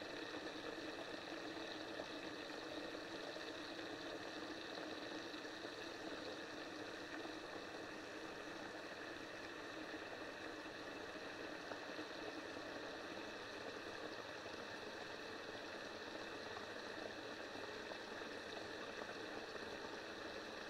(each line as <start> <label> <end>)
0.0 water flow from my flush pipe 20.6